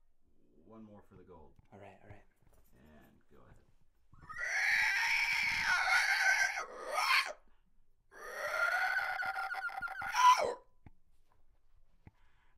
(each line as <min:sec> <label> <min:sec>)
0:08.1 pterodactyl sound 0:10.6